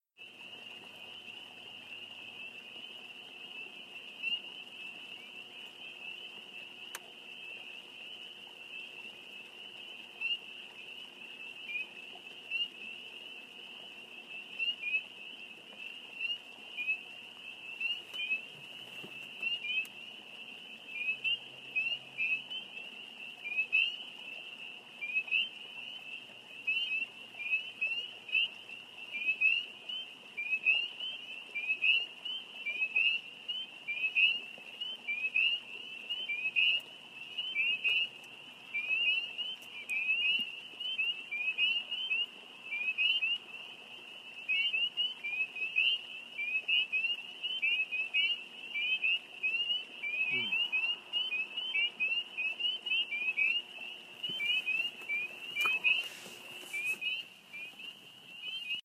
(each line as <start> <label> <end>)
0.2 mating calls of 'Spring Peepers 58.8